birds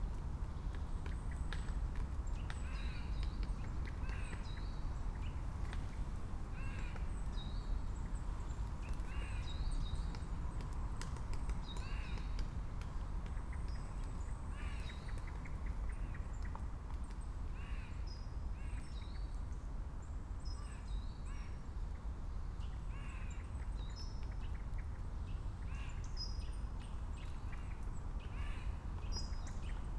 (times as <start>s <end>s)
0.1s 18.0s